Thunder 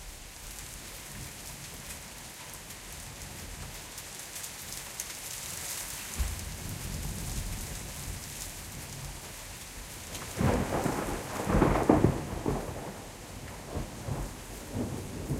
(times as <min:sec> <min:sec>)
0:06.1 0:09.3, 0:09.9 0:15.3